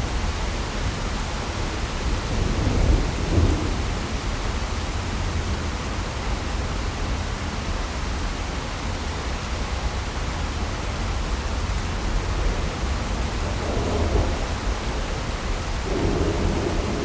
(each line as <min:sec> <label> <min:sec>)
0:00.8 Thunderstorm 0:06.2
0:11.8 Thunderstorm 0:17.0